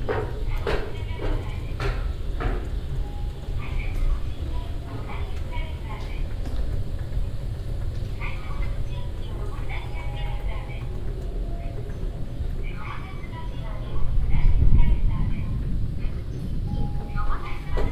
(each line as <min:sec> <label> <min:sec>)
0:00.0 moving staircases 0:17.9